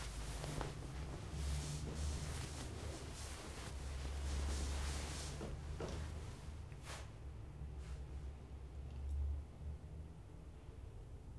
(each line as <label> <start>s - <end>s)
one person on bed 0.0s - 7.1s